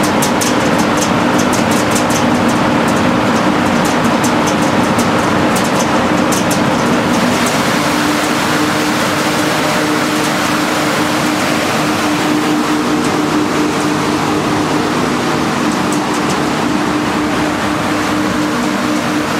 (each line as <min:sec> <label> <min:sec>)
0:00.0 Aircondition outside 0:19.3